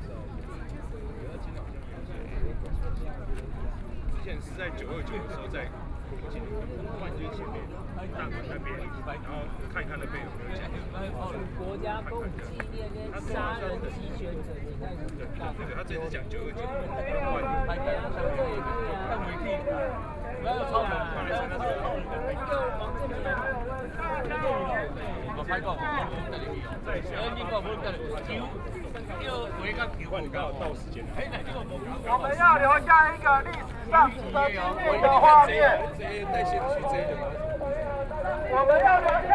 speeches 0:00.0 - 0:39.3
protest march 0:16.6 - 0:39.3

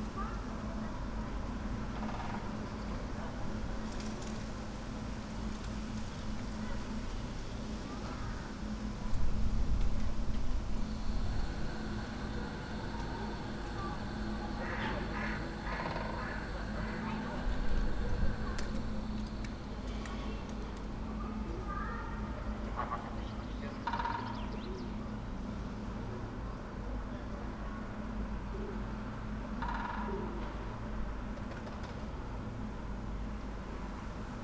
woodpecker 0:11.1 - 0:19.5

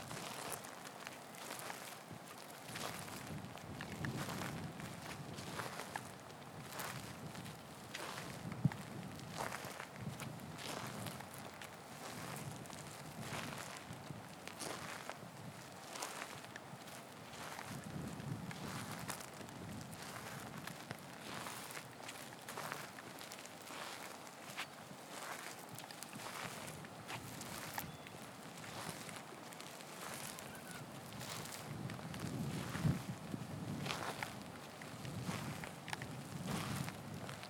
walking meditation 0:00.0 - 0:37.4

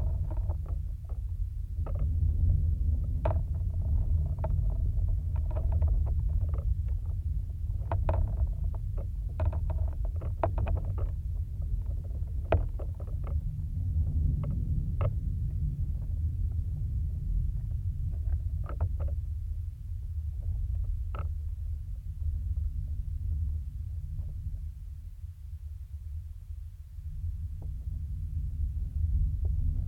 contact mic attached to plastic fence 0:00.0 - 0:16.1
contact mic attached to plastic fence 0:17.6 - 0:19.3
contact mic attached to plastic fence 0:20.2 - 0:21.6

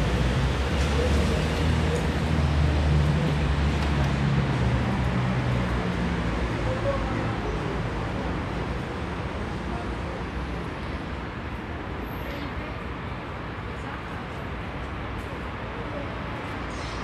passers-by 0:00.0 - 0:17.0
traffic 0:00.0 - 0:17.0

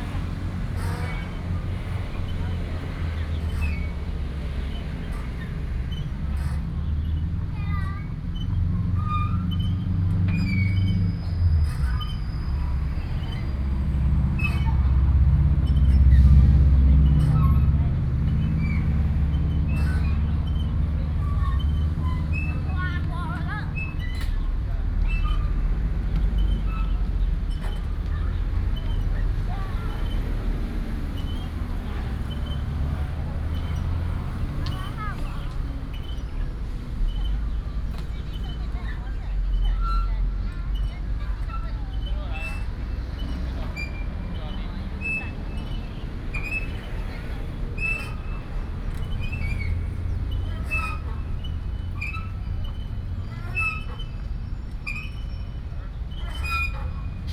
Traffic Sound 0:00.0 - 0:57.3
Swing 0:40.7 - 0:57.3

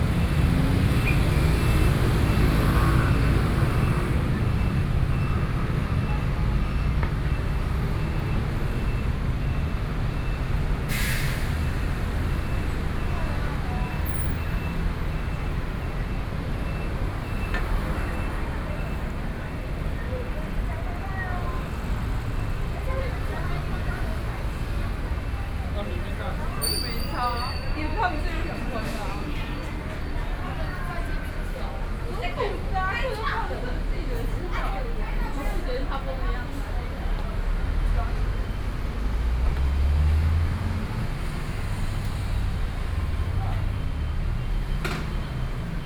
Traffic Noise 0:00.0 - 0:45.8
Walking in the street 0:00.0 - 0:45.8

